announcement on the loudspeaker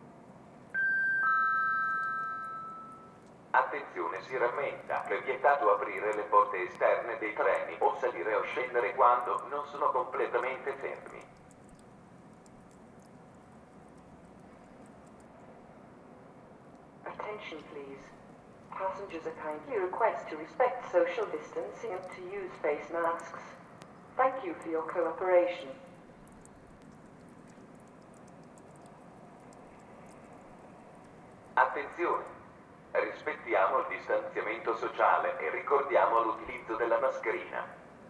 3.6 11.2, 18.8 23.6, 31.6 32.4, 33.0 37.8

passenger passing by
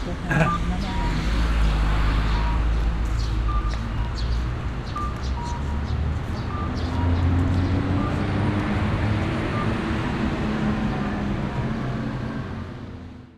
0.0 4.0

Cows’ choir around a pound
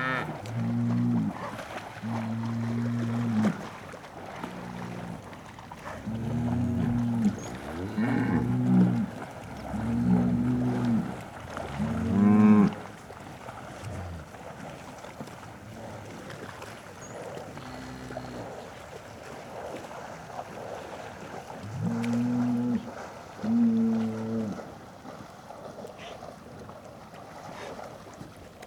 4.4 12.9, 17.0 18.8

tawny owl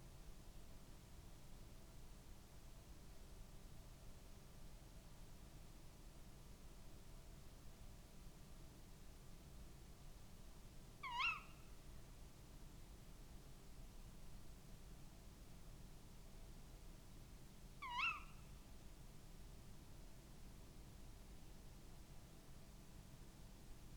11.0 11.6, 17.8 18.4

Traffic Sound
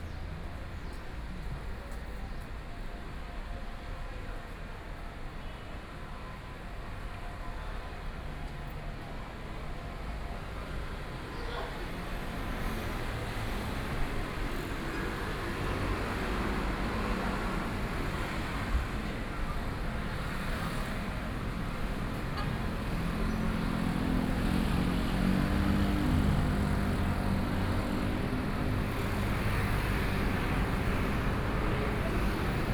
10.9 32.7

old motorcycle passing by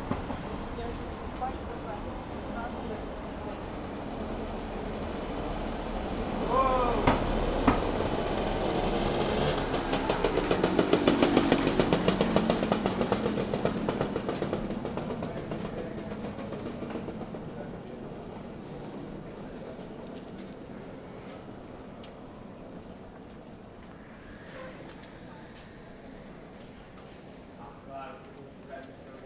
5.2 17.5

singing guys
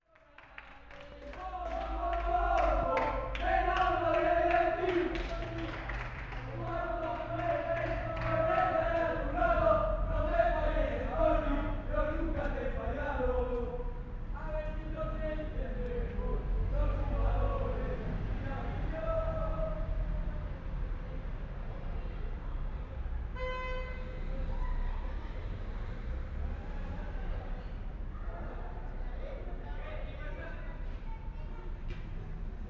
0.2 20.1

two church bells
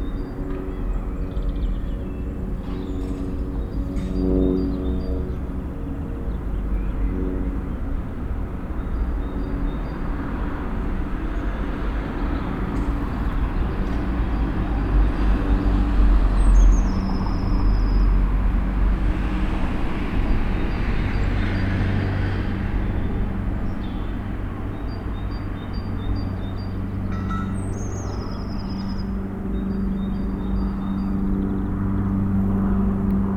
27.0 30.0

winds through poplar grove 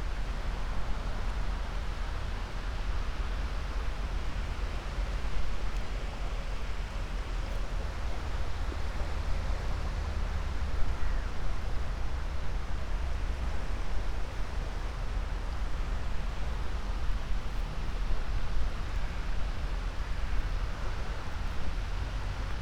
5.1 22.6

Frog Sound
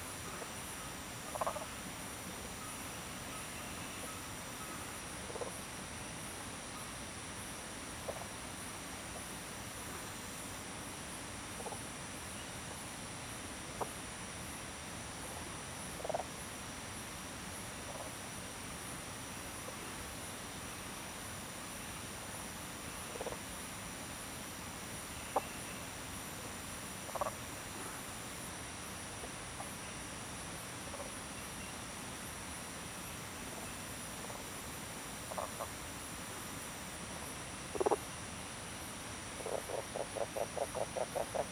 1.2 1.8, 27.0 27.5, 35.2 35.8, 37.7 38.1, 39.3 41.5

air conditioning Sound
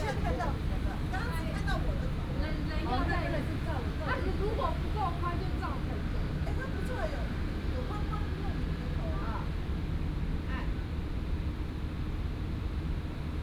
0.0 8.0

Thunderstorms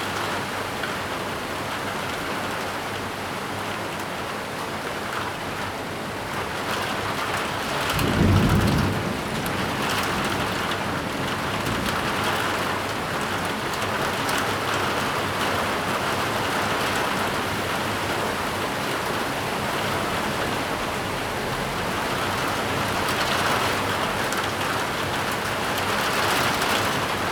7.4 14.2

